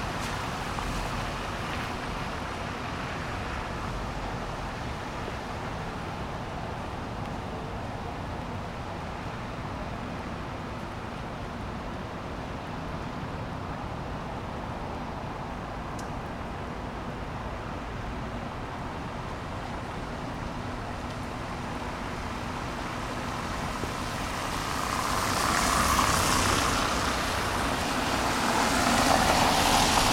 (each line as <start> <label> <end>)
0.0 Cars driving across the wet bricked road surface 8.3
15.6 Cars driving across the wet bricked road surface 30.1